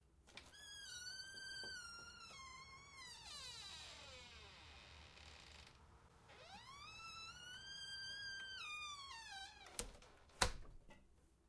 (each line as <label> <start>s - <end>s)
Extremely squeaky door being opened and shut 0.4s - 10.6s